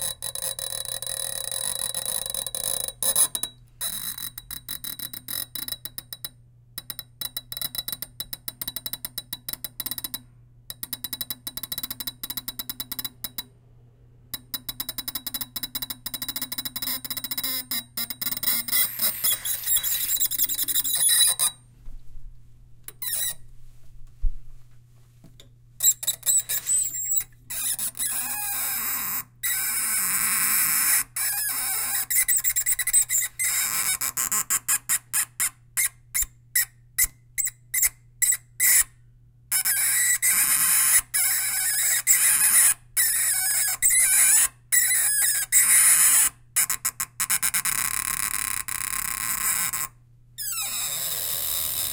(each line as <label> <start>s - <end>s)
Twisting Metal Sink Spigot 0.0s - 13.4s
Twisting Metal Sink Spigot 14.4s - 21.6s
Twisting Metal Sink Spigot 25.8s - 36.0s